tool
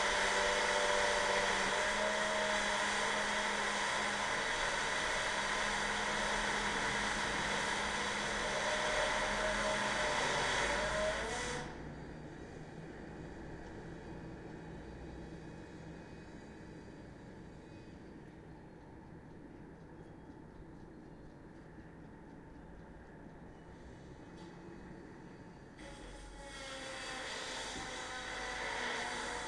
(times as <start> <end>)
0.0 11.8, 25.8 29.4